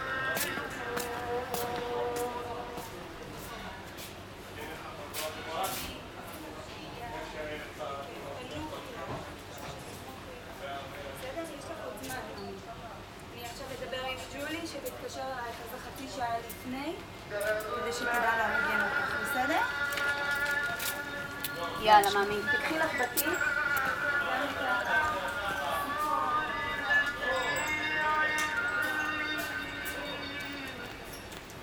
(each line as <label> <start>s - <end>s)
Muazin 17.3s - 31.6s